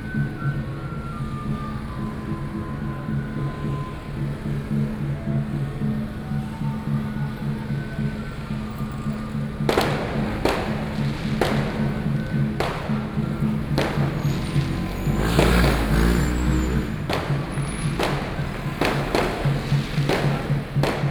Garbage trucks will be arriving music 0:00.0 - 0:21.1
Traffic Noise 0:00.0 - 0:21.1
Traditional temple Carnival 0:00.1 - 0:21.1

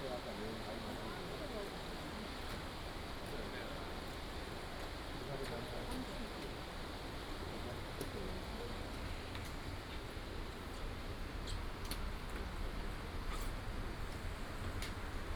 Walking in the old alley 0:08.8 - 0:15.3

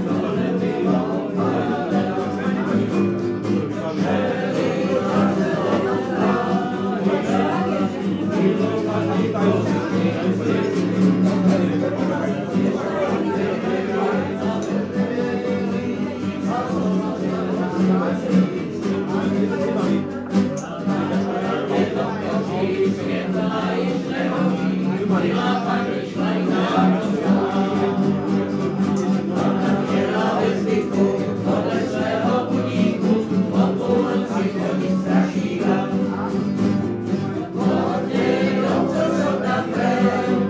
drinking and singing together 0:00.0 - 0:40.4

